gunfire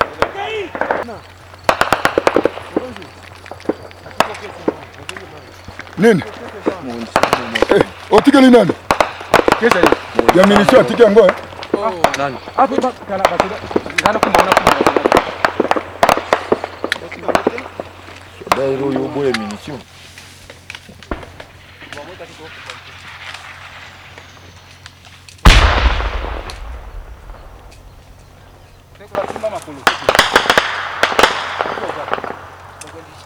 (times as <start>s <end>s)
0.0s 3.0s, 7.1s 11.4s, 13.2s 17.8s, 25.4s 28.3s, 29.2s 32.8s